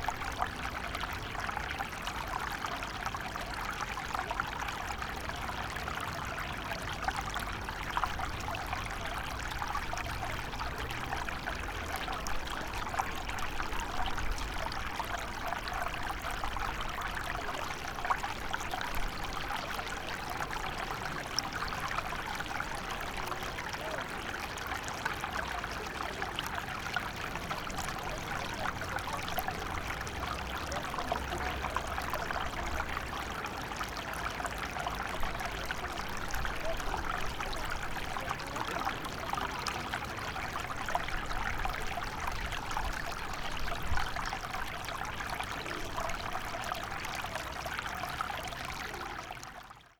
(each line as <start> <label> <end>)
0.0 water flows from a small canal into a pond 49.9